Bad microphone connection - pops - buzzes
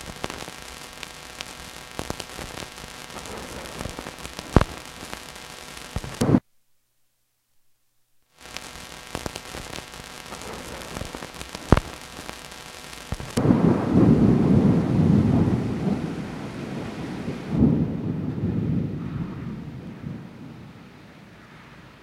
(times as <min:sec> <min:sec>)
0:00.0 0:16.1